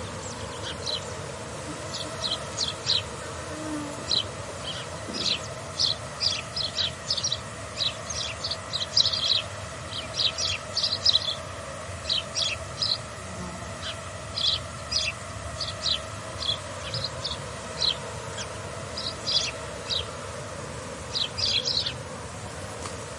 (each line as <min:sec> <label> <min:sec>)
0:00.0 buzzing of mosquito clouds 0:23.1